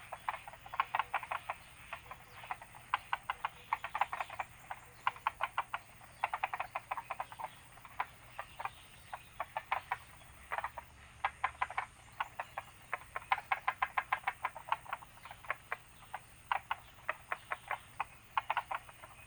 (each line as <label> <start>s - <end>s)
Bird sounds 0.0s - 19.2s
Frogs chirping 0.0s - 19.2s